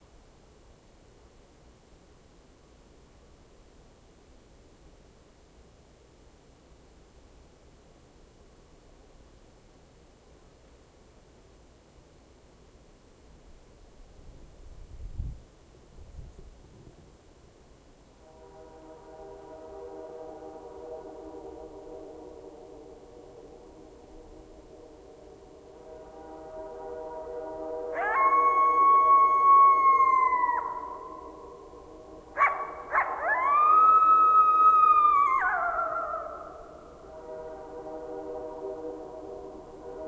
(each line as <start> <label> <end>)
0.0 train 40.0
18.6 single coyote howling at a train 40.0